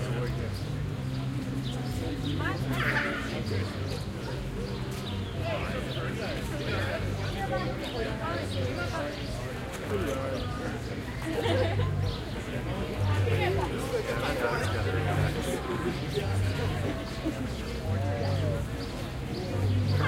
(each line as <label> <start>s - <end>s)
crowd 0.0s - 20.0s
music 0.0s - 20.0s
street performers 0.0s - 20.0s